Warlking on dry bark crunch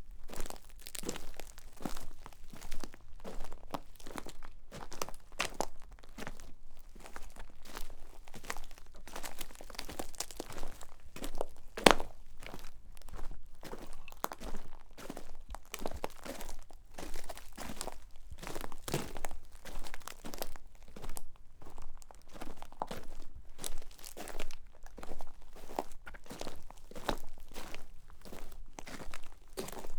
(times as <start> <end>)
7.7 21.2